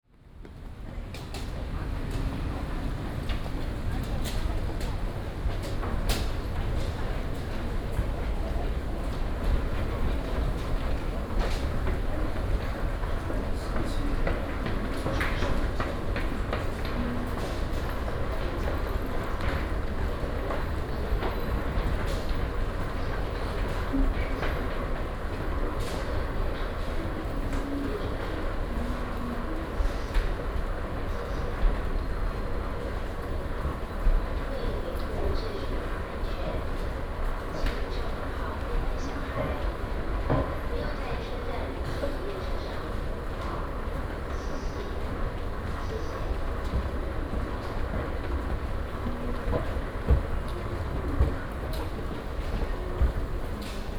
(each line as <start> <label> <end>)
45.2 walking 53.9